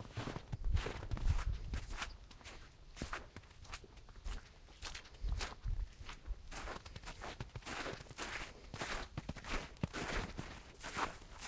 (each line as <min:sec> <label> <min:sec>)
0:00.0 crunchy footsteps in the snow 0:11.4